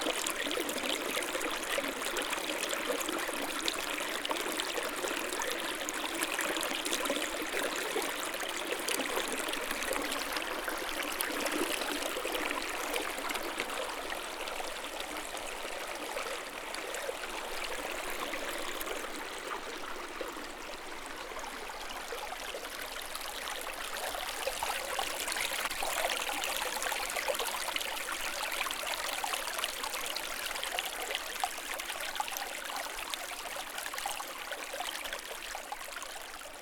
0.0s small stream 36.6s

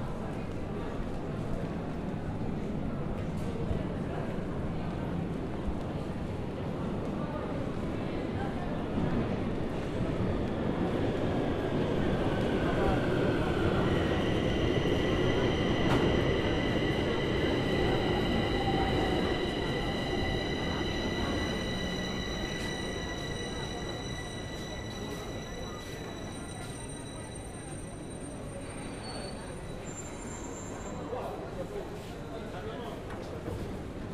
0.0s Subway 34.1s

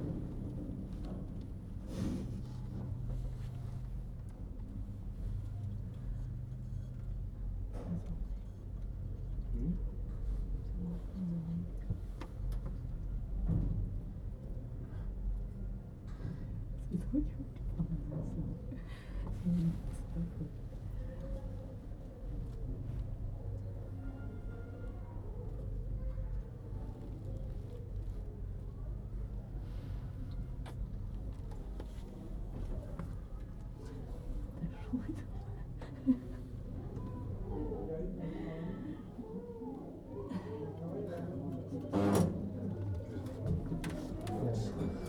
0.0s long queue of people waiting to use the lift 45.0s

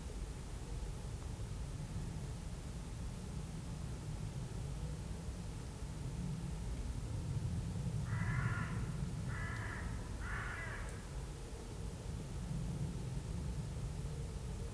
8.0s crows crow in the tree tops 11.2s
11.0s Planes are always overhead 14.7s

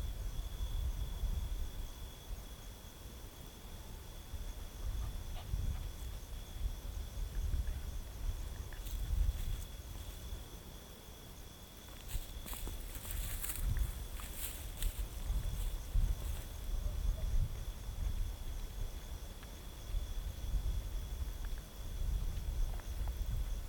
4.6s eventual dog 6.2s
5.1s Unpaved gravel road 10.8s
11.7s Unpaved gravel road 23.6s

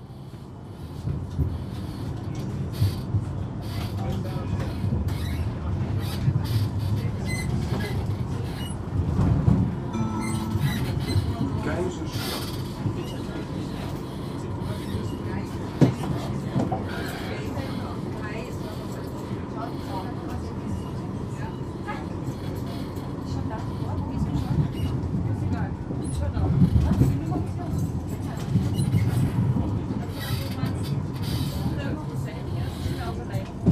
0.0s Tram 33.7s

